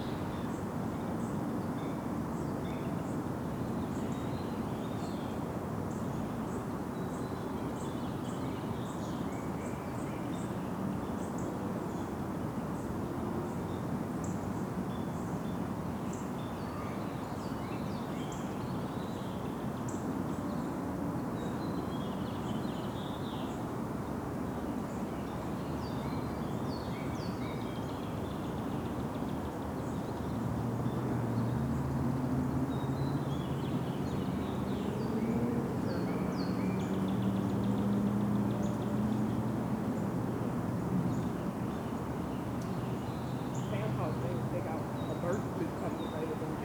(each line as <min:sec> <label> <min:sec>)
0:29.8 overhead plane 0:46.6
0:30.4 cars 0:40.8
0:30.5 golf carts traveling around the bend 0:46.6
0:41.0 birds 0:46.6